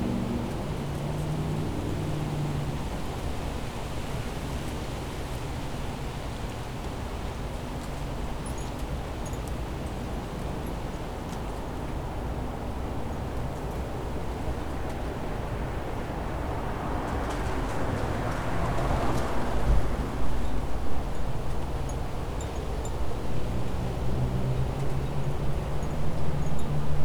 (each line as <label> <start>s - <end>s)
vehicles 0.0s - 9.8s
vehicles 10.5s - 27.0s